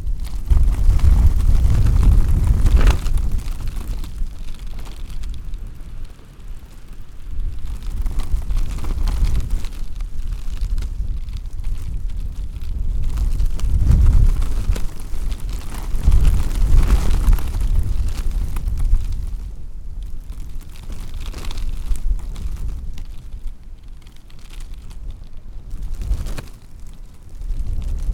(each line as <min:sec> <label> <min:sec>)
0:00.0 security tape rustling on a wind 0:28.1